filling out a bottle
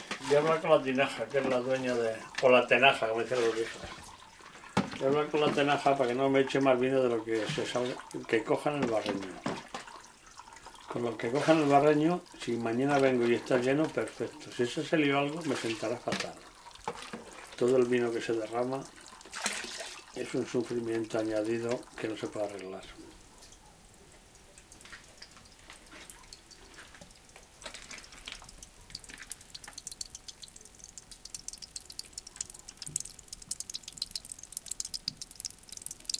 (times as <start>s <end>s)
15.4s 23.0s, 24.7s 36.1s